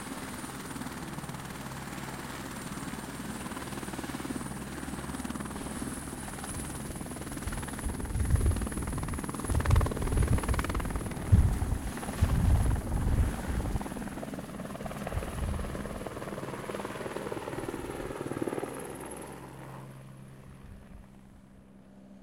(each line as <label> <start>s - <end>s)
EuroCopter AS350B3 take-off 0.0s - 22.2s